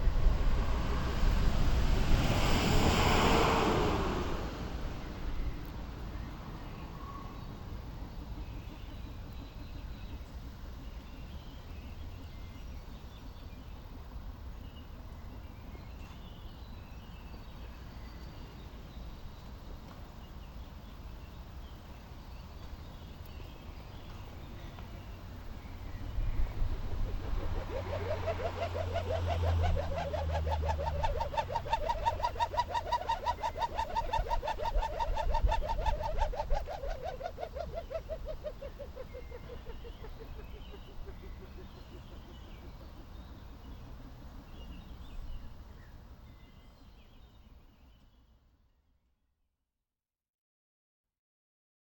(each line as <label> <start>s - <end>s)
rubber bands in the wind 0.0s - 6.6s
rubber bands in the wind 23.7s - 45.9s